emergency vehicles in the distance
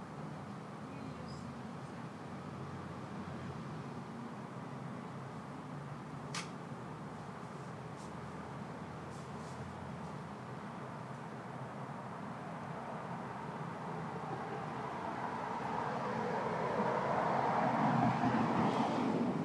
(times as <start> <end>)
8.6 19.4